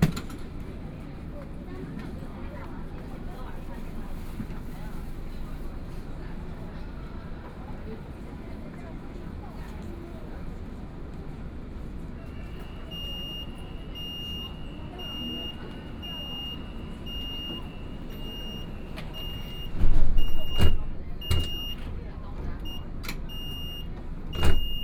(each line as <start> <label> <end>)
11.5 Broadcasting messages on the train 24.8